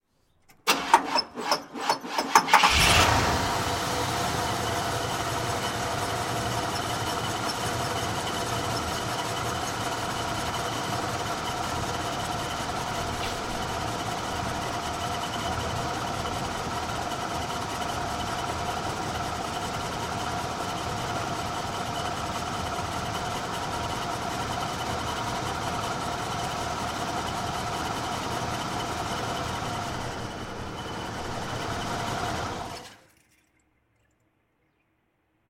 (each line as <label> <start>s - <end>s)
Vintage Cadillac Turn On Off Engine 0.7s - 33.0s